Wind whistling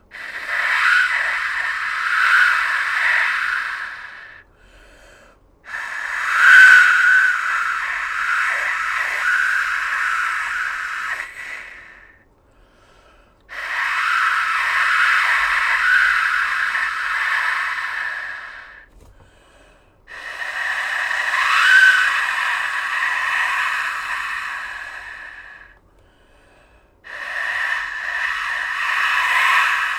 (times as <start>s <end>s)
5.7s 12.2s, 27.1s 29.9s